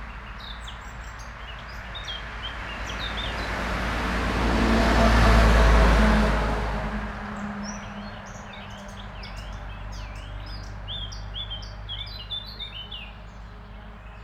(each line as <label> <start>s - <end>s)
cars passing by 0.0s - 14.2s